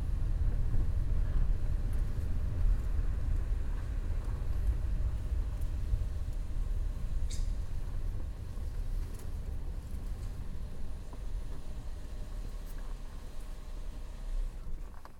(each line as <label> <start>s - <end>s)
Traffic 0.0s - 15.1s